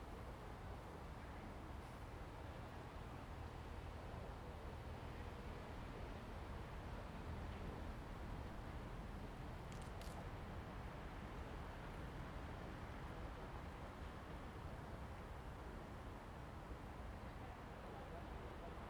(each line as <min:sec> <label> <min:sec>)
0:00.0 Wind 0:18.8